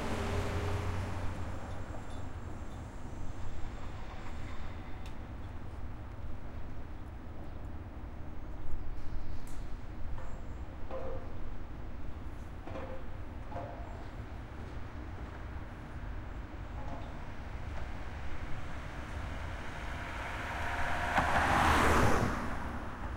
car passing 0.0 - 1.6
car passing 18.0 - 23.1

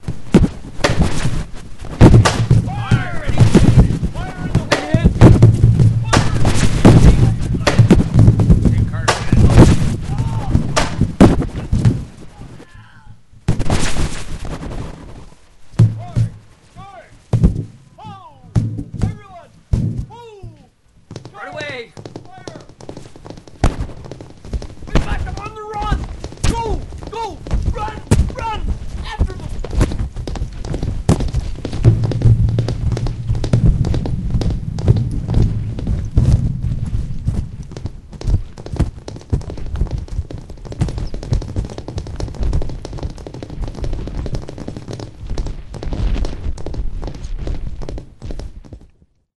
galloping 0.0 - 13.0
guns 2.0 - 11.9
cannons 2.0 - 14.3
voices 2.7 - 5.2
voices 6.0 - 7.9
voices 8.7 - 10.9
galloping 13.8 - 49.0
cannons 15.8 - 39.5
voices 16.0 - 17.2
voices 18.0 - 20.7
voices 21.3 - 22.7
voices 24.9 - 29.6

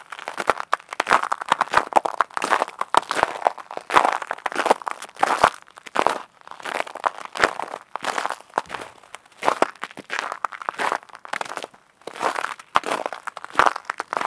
walking on frozen snow 0.0 - 14.2

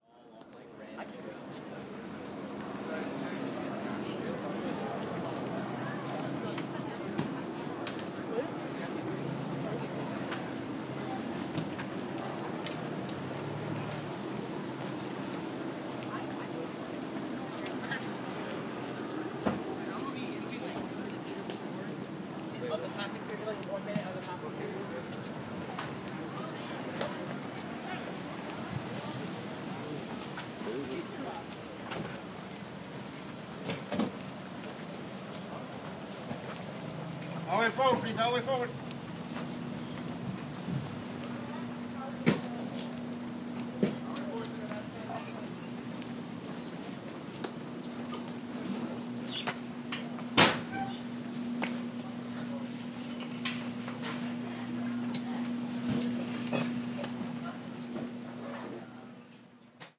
Cars Braking 2.7 - 23.4
Cars Braking 32.1 - 58.8
AC Unit 37.4 - 59.9

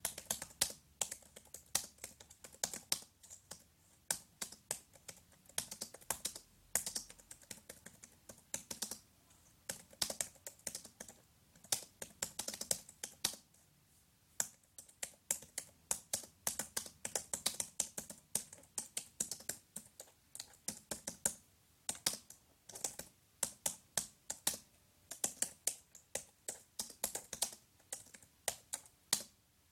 Typing on an Apple keyboard 0.0 - 9.0
Typing on an Apple keyboard 9.6 - 13.5
Typing on an Apple keyboard 14.4 - 29.4

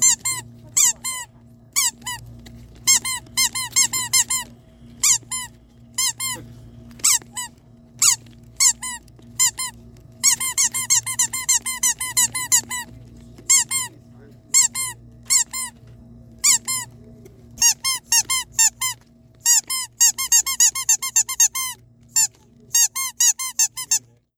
dog toy squeaking 0.0 - 12.9
dog toy squeaking 13.5 - 13.9
dog toy squeaking 14.5 - 15.7
dog toy squeaking 16.4 - 16.9
dog toy squeaking 17.6 - 24.1

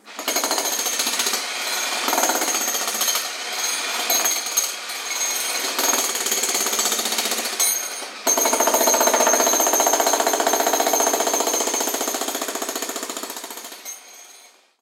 Jackhammer at work 0.0 - 14.6

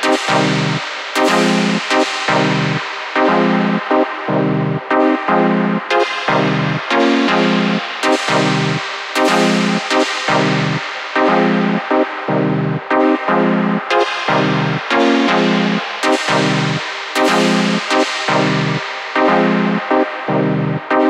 basic synth with filter and effect 0.0 - 21.0

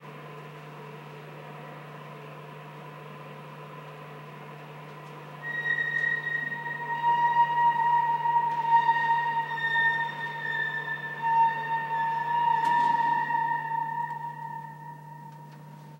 metallic harmonics as it stops 5.4 - 15.9

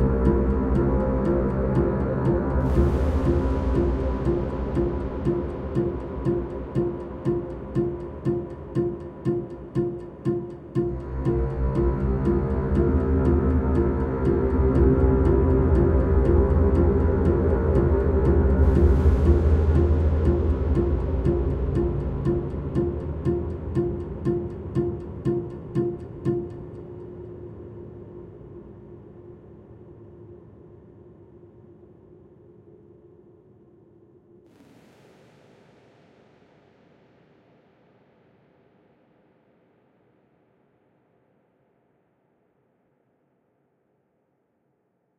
Orchestral Suspense Loop 0.0 - 27.2

